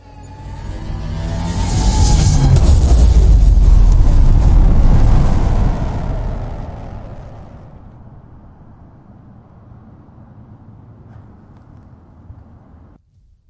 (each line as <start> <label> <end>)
0.4 bang 9.9